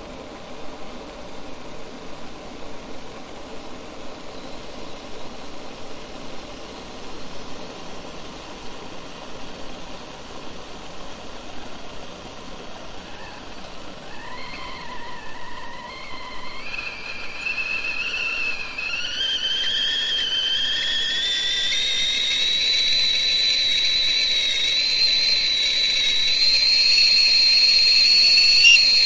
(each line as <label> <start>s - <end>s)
steam 0.0s - 29.0s
water boiling 0.0s - 29.0s
whistle 14.1s - 29.0s